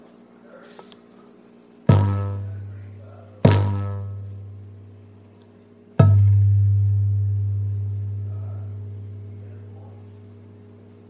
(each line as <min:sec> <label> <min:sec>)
0:01.8 bang on a large, round, glass table 0:04.8
0:06.0 bang on a large, round, glass table 0:09.4